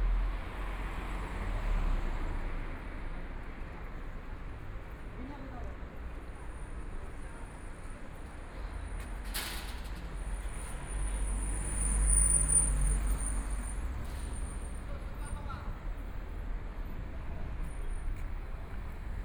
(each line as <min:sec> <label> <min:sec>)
0:00.0 Traffic Sound 0:19.2